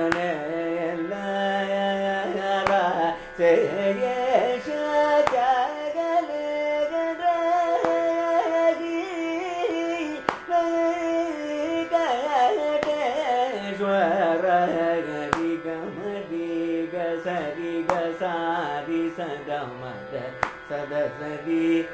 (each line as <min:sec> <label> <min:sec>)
0:00.0 Carnatic varnam 0:21.9